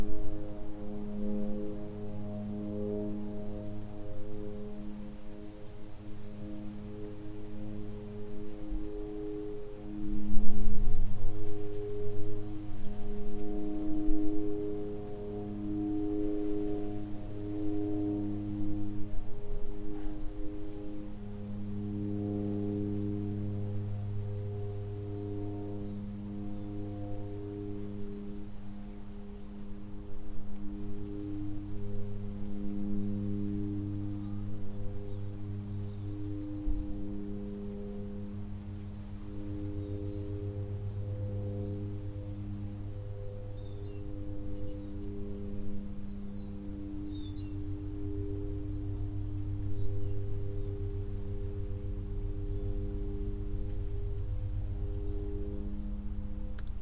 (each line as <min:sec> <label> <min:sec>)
0:00.0 Light wind 0:56.8
0:00.0 distant plane in the sky 0:56.8
0:32.4 small birds 0:40.6
0:41.2 small birds 0:45.2
0:45.8 small birds 0:47.6
0:48.4 small birds 0:50.4